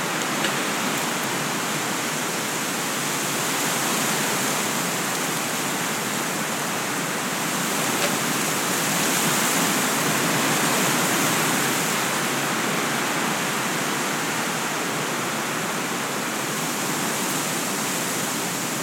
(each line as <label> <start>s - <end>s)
Wind, Weeds and Trees 0.0s - 18.8s